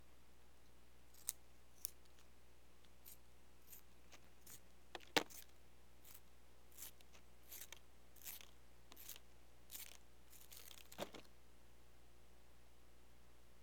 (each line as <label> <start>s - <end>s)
staedtler pencil sharpener working on a Maped pencil 3.0s - 11.2s